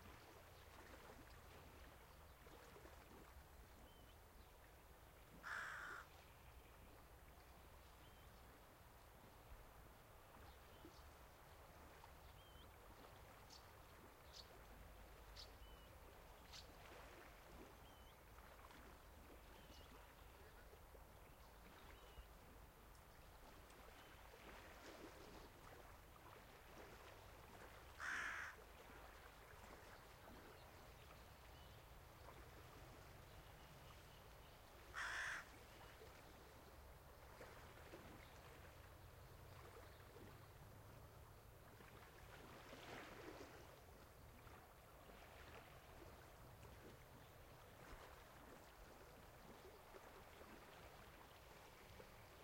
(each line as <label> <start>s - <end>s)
Distant waves 0.0s - 52.4s
crows 5.4s - 6.1s
frogs 5.4s - 6.1s
frogs 28.0s - 28.6s
crows 28.0s - 28.6s
crows 34.9s - 35.5s
frogs 34.9s - 35.5s